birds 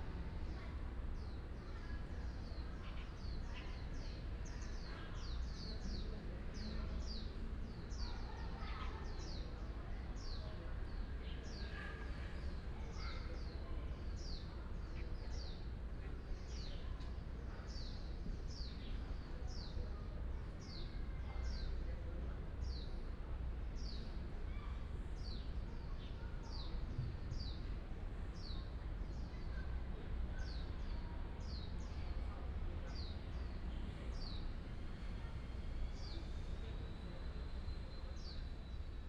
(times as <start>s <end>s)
6.8s 21.8s, 33.0s 38.9s